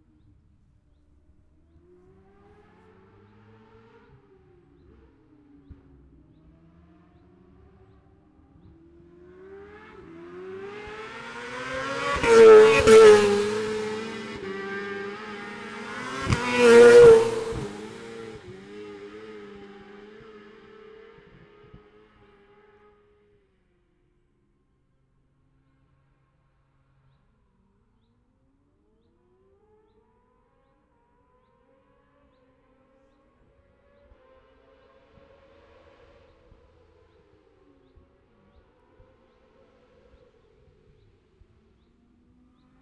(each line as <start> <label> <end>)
0.0 motorcycle road racing 23.6
28.8 motorcycle road racing 42.8